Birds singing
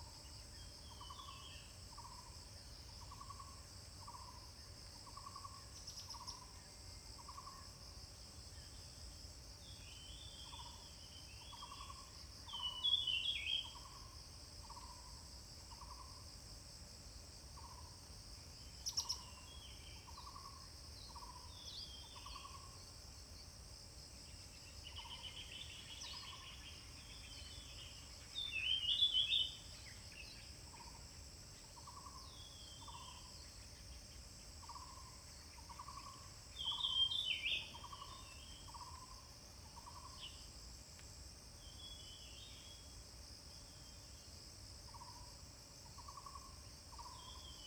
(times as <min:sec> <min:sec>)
0:35.7 0:39.1